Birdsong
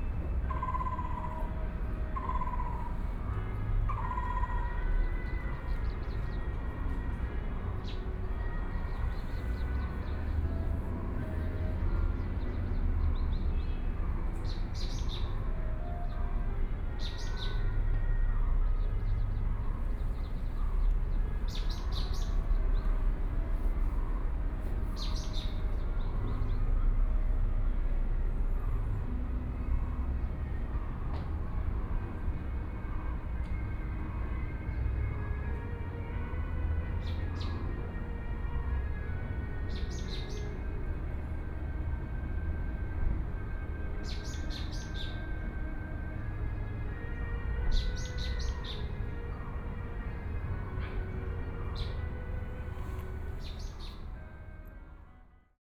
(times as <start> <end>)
7.8 16.2, 18.8 23.0, 24.8 26.6, 39.7 40.7, 43.9 45.7, 47.0 49.9, 50.6 54.3